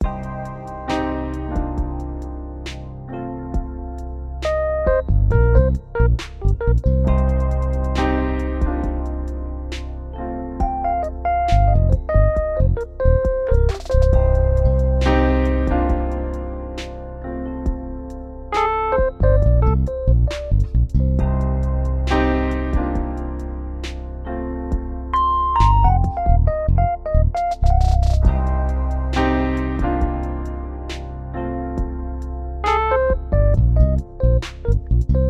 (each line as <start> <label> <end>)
10.6 trap drums 16.2
27.4 trap drums 31.0